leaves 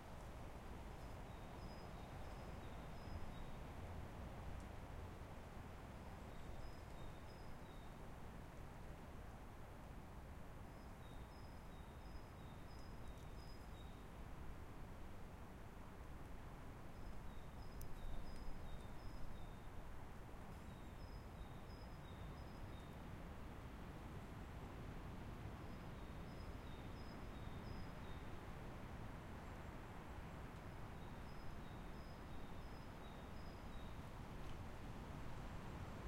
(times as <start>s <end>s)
10.3s 36.0s